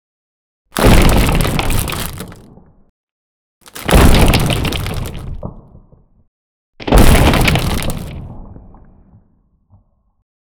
debris 0.8 - 2.7
rock impact w cracking sound 0.8 - 2.8
debris 3.6 - 5.7
rock impact w cracking sound 3.6 - 6.1
rock impact w cracking sound 6.8 - 9.0
debris 6.8 - 8.8

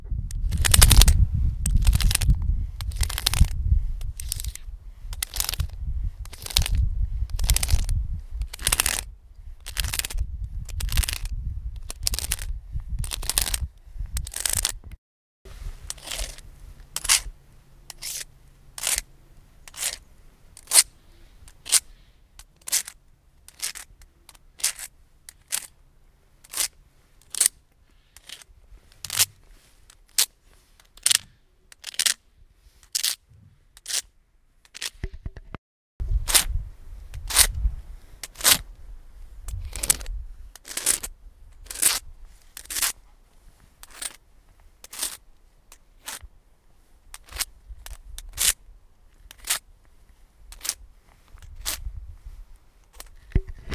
Plastic pen scraping on a rock 0.3 - 14.9
Plastic pen scraping on a rock 15.9 - 16.4
Plastic pen scraping on a rock 17.0 - 17.3
Plastic pen scraping on a rock 17.9 - 20.0
Plastic pen scraping on a rock 20.6 - 20.9
Plastic pen scraping on a rock 21.5 - 25.7
Plastic pen scraping on a rock 26.4 - 32.2
Plastic pen scraping on a rock 39.5 - 43.0
Plastic pen scraping on a rock 43.8 - 44.2
Plastic pen scraping on a rock 44.8 - 45.2
Plastic pen scraping on a rock 45.8 - 46.3
Plastic pen scraping on a rock 47.1 - 48.6
Plastic pen scraping on a rock 49.2 - 49.6
Plastic pen scraping on a rock 50.5 - 51.9

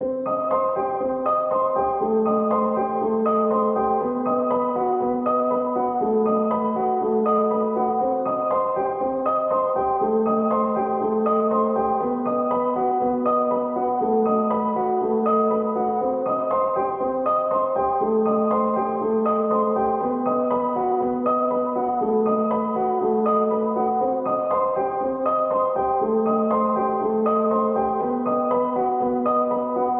piano 0.0 - 29.9

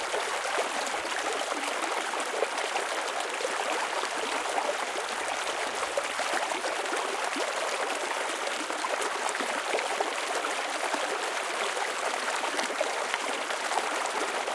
mountain stream flowing over rocks 0.0 - 14.5

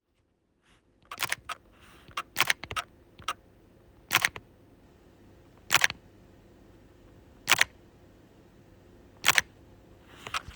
DSLR shutter sound 1.1 - 3.4
DSLR shutter sound 4.0 - 4.4
DSLR shutter sound 5.6 - 6.0
DSLR shutter sound 7.4 - 7.8
DSLR shutter sound 9.2 - 9.5

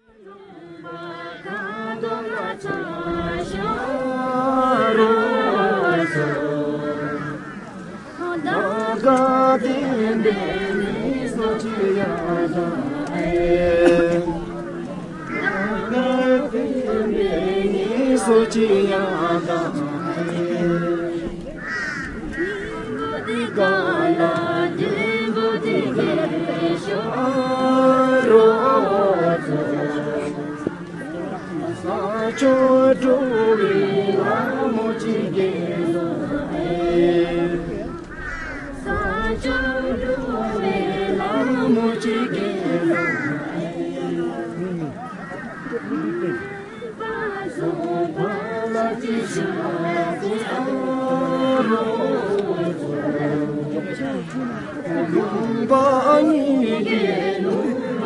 folk song performed by the local residents 0.0 - 58.0

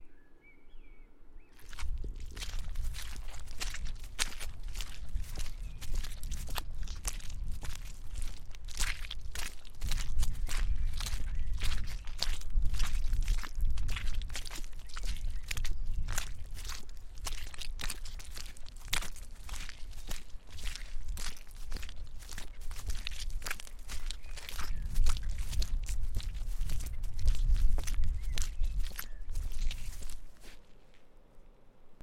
distant birdsong 0.0 - 1.8
little wind rumble 1.2 - 30.6
walking through a muddy field 1.4 - 32.0

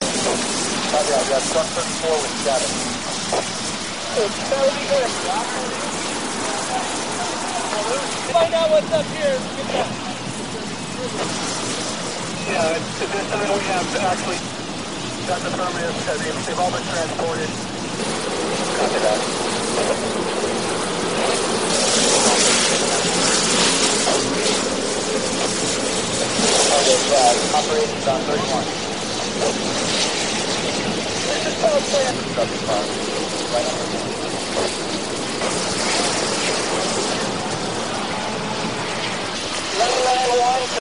fire men 0.0 - 40.8
neighborhood fire 0.0 - 40.8
water 0.0 - 40.8
radio 0.2 - 3.5
radio 12.4 - 14.4
radio 15.2 - 17.6
radio 18.6 - 20.1
radio 26.4 - 28.8
radio 31.2 - 33.9

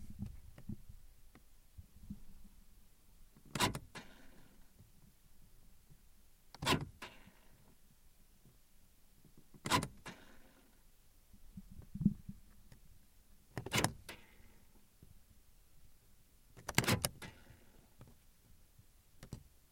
windows 3.4 - 5.2
door open close 3.5 - 4.4
windows 6.5 - 7.8
door open close 6.6 - 7.2
windows 9.5 - 10.6
door open close 9.6 - 10.4
windows 13.5 - 14.4
door open close 13.6 - 14.3
windows 16.5 - 19.6
door open close 16.6 - 17.6

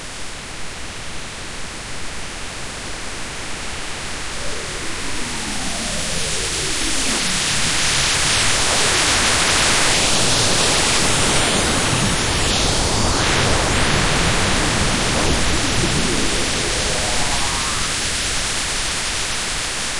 buzz of weird technology and energy 4.1 - 18.8

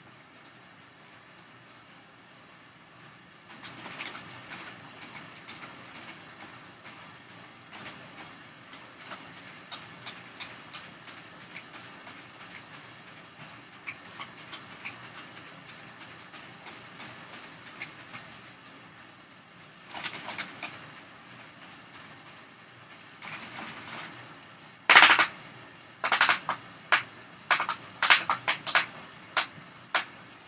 fan hit and spin a pinwheel 24.9 - 30.2

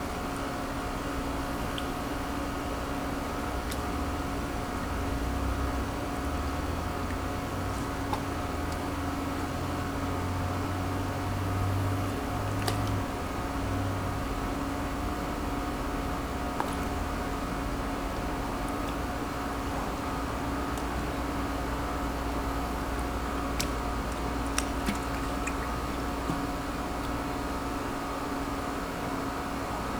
AC Hum 0.0 - 29.9

